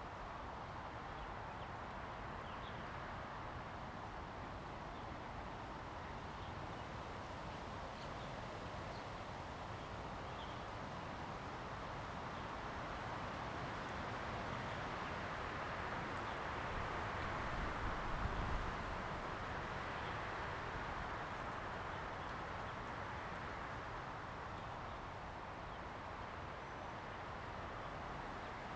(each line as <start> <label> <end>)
0.0 Wind 28.7